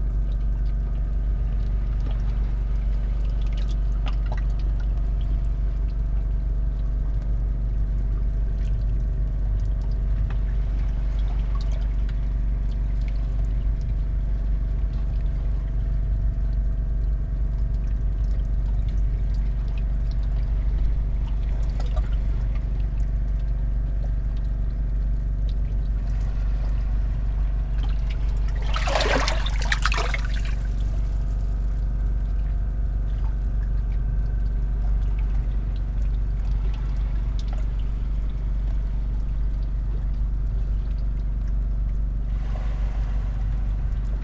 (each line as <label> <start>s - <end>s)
engine of fishing boat 0.0s - 44.2s
small waves 0.9s - 6.9s
small waves 8.5s - 44.2s